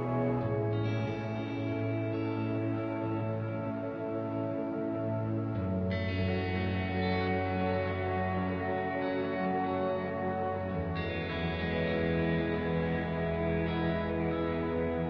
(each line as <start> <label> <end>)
0.0 warm harmonic chord progressions 15.0